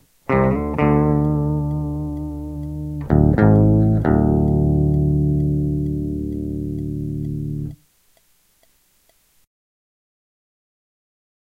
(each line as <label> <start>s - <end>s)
clean guitar loops with an octive fx 0.0s - 7.8s